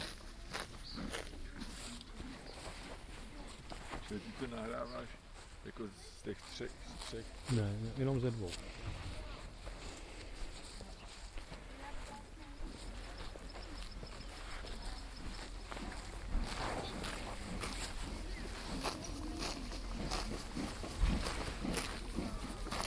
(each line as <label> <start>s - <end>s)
two horses 0.0s - 22.8s